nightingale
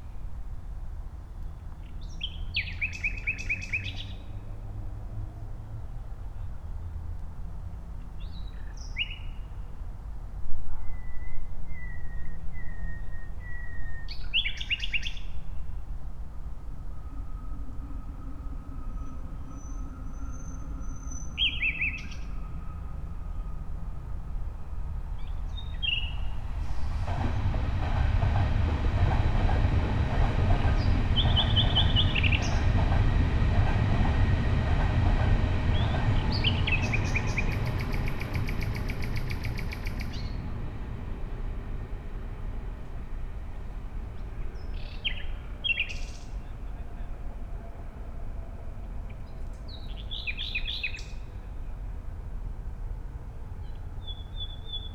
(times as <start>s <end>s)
35.8s 40.4s